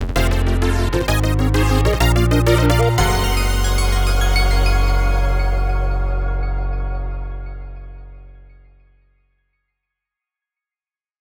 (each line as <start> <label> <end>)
0.0 Victory Fanfare 6.3